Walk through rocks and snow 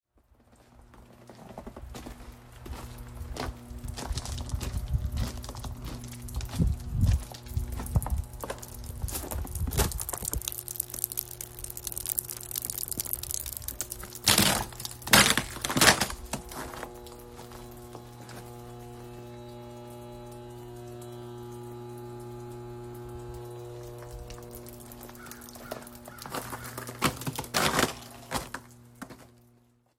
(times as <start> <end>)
0.2 10.4, 14.3 18.5, 25.1 29.5